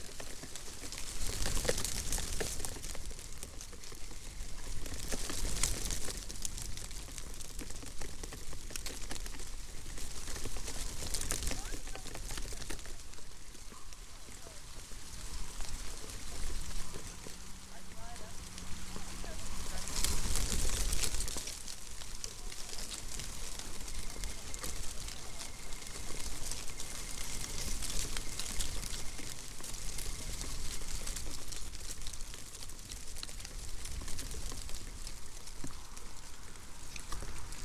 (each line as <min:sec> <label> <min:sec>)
0:00.0 bicycle passes 0:37.6
0:00.0 warm wind rustles dry leaves 0:37.6
0:10.0 crickets chirping 0:31.4